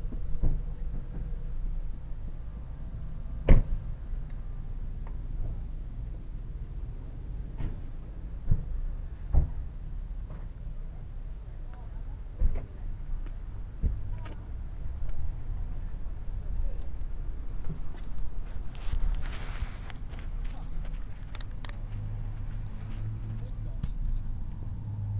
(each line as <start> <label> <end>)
13.8 Youngsters 24.7